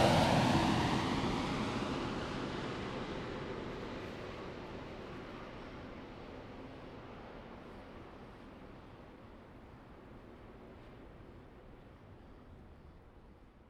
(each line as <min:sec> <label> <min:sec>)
0:00.0 The plane was flying through 0:05.0